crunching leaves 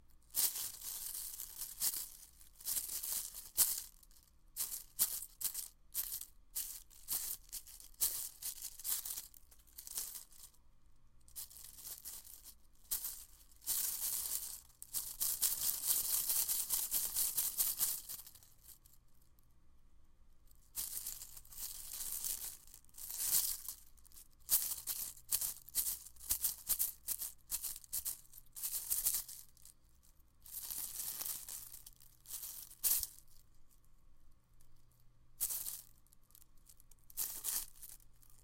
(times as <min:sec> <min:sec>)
0:00.3 0:04.0, 0:04.6 0:10.5, 0:11.4 0:18.2